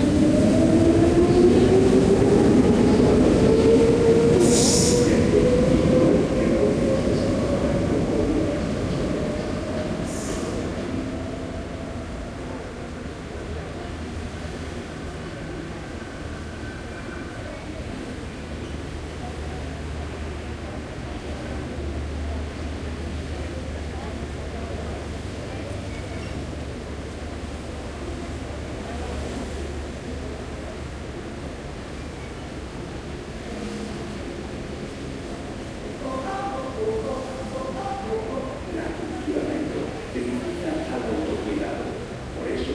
frequent trains passing by 0.0 - 42.7

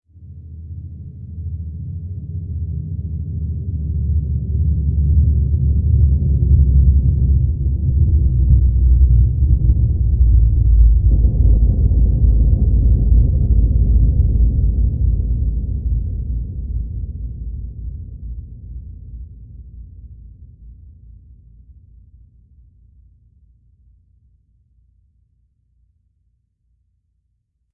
Deep reversed boom 5.9 - 18.9

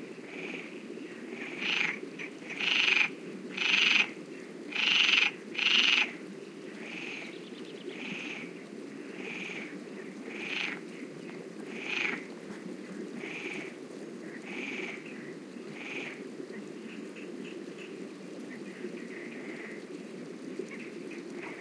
river 0.0 - 21.6
Frogs croacking 0.2 - 12.3
birds in background 6.4 - 8.7
Frogs croacking 13.1 - 20.0

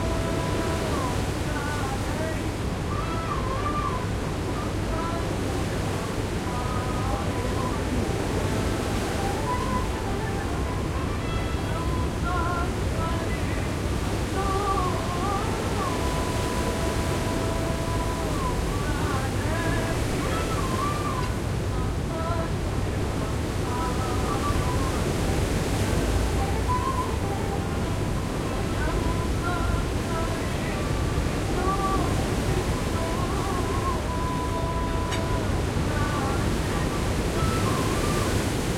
Waves 0.0 - 38.7

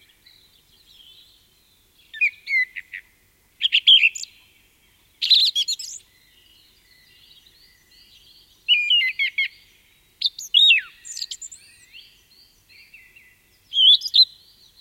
Song thrush singing 0.0 - 14.8

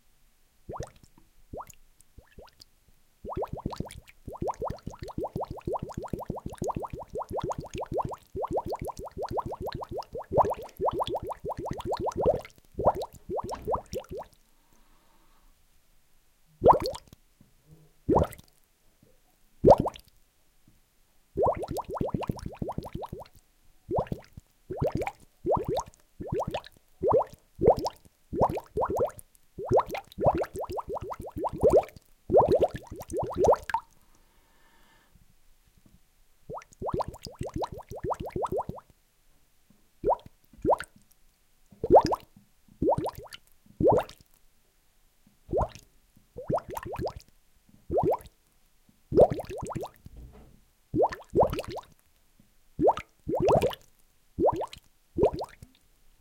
using a large tube to create bubbles in a sink 0.7 - 2.6
using a large tube to create bubbles in a sink 3.2 - 14.4
using a large tube to create bubbles in a sink 16.6 - 17.2
using a large tube to create bubbles in a sink 18.1 - 18.5
using a large tube to create bubbles in a sink 21.4 - 33.9
using a large tube to create bubbles in a sink 36.5 - 38.9
using a large tube to create bubbles in a sink 40.0 - 41.0
using a large tube to create bubbles in a sink 41.7 - 44.3
using a large tube to create bubbles in a sink 45.5 - 47.3
using a large tube to create bubbles in a sink 47.9 - 48.4
using a large tube to create bubbles in a sink 49.1 - 50.1
using a large tube to create bubbles in a sink 51.0 - 52.0
using a large tube to create bubbles in a sink 52.8 - 55.8

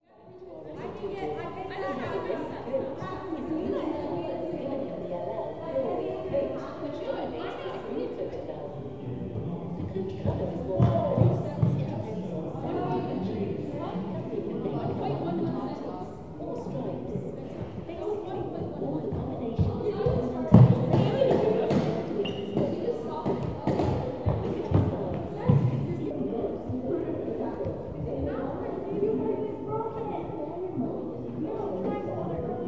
voices 0.5 - 32.6

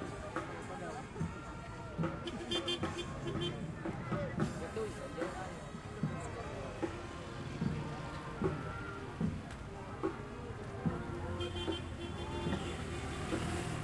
people talking 0.0 - 13.8
drums 0.0 - 13.8
vehicles 0.0 - 13.8
trumpets 2.0 - 3.8
trumpets 11.0 - 13.8

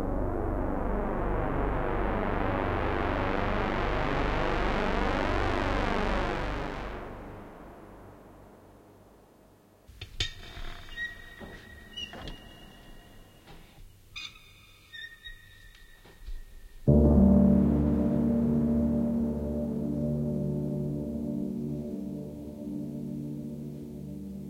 piano 0.0 - 9.4
synth 0.0 - 9.5
piano 10.9 - 24.4
synth 16.8 - 24.4

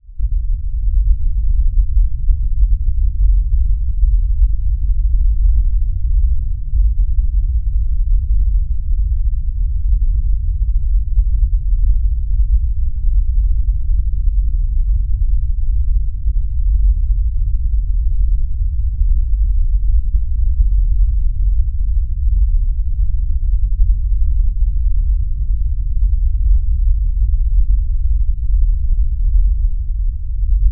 Very low rumbling Bass 0.0 - 30.7

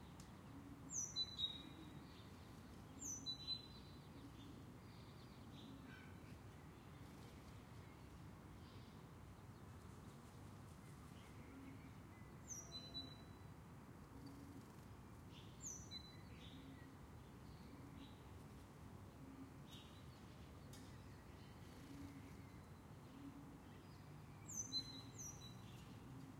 early city birds 0.0 - 26.3

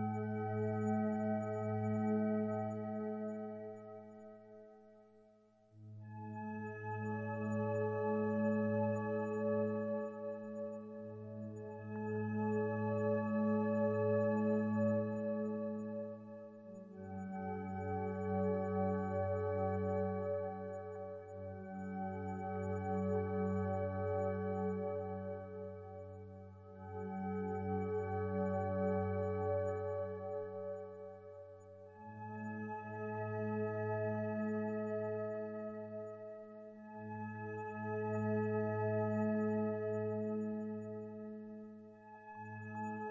synthesizer 0.0 - 43.1

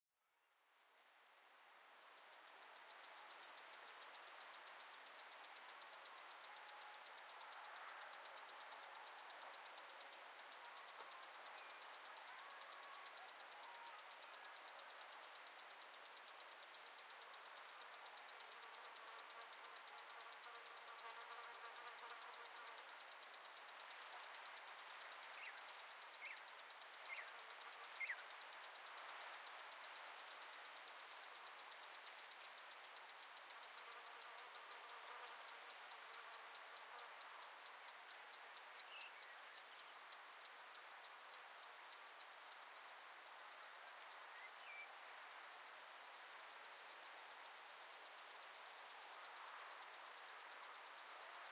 native cicadas 0.2 - 51.5

